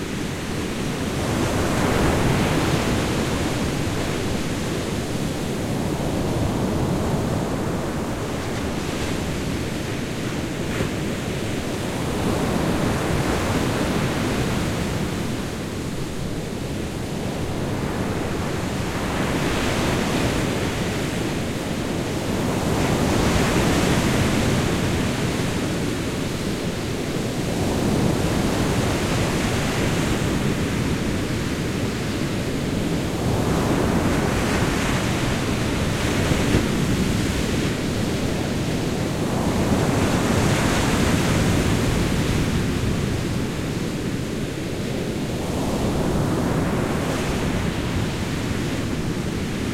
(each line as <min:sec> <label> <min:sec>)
0:00.0 Big waves 0:49.7